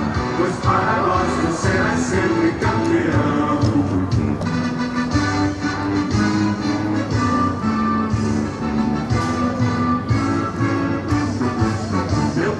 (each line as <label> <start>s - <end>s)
vendors played music and the clubs anthem 0.0s - 12.5s